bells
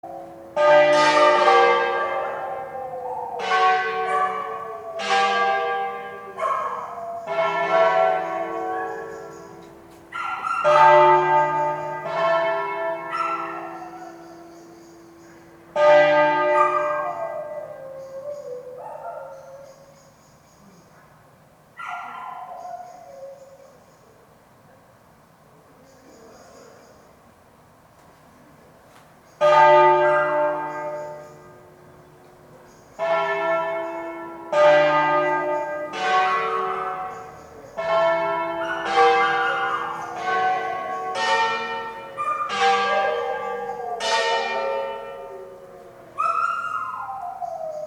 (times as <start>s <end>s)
3.4s 18.6s, 29.4s 47.8s